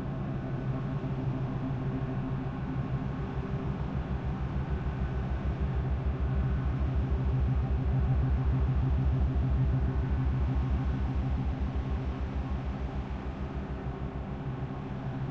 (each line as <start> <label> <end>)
0.0 engine 15.3